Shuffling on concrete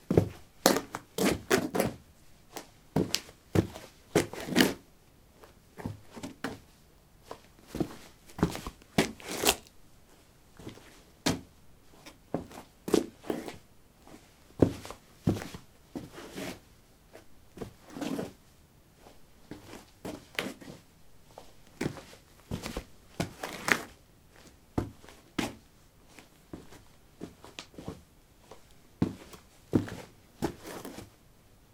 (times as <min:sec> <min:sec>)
0:07.3 0:09.7, 0:19.0 0:31.1